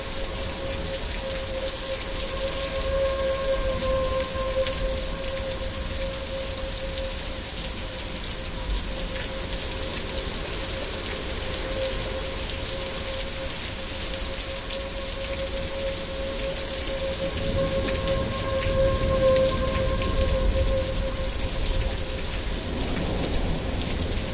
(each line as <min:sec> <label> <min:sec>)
0:00.0 Tornado sirens are going off 0:24.3
0:00.0 rain pelts down 0:24.3